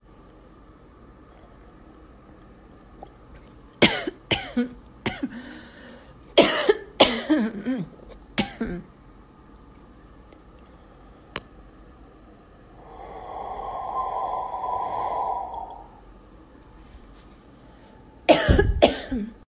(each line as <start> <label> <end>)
12.8 exhaled into coffee cup 16.0